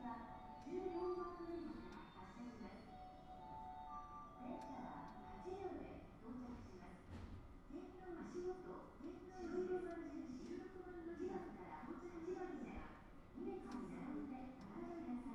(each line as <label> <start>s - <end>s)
announcements 0.0s - 6.6s